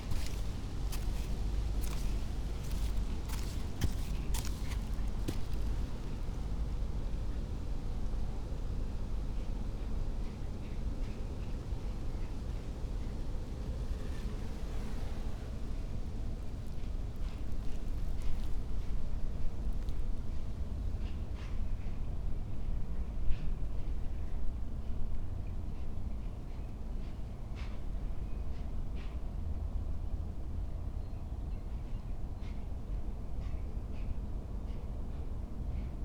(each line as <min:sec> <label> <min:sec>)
0:00.0 clogs on sand 0:06.6
0:00.0 river flows quietly 0:06.7
0:16.8 clogs on sand 0:19.0